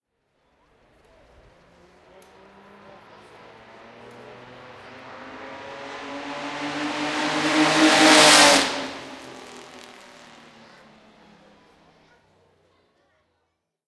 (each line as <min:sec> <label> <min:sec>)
0:01.2 Pass by of the Mercedes W125 car 0:12.0